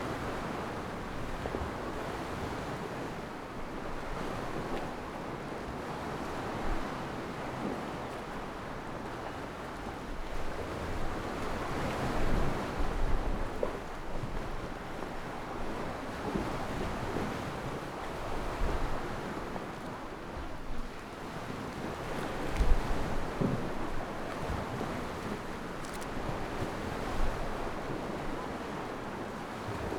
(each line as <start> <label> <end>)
0.0 Waves 29.9